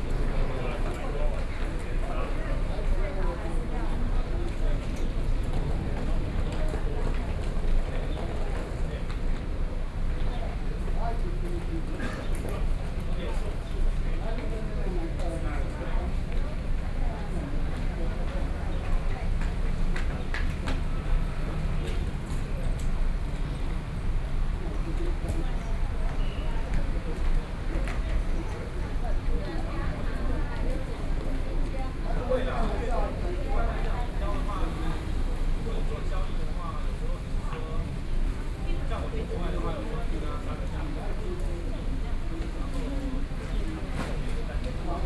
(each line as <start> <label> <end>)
0.0 crowd 45.0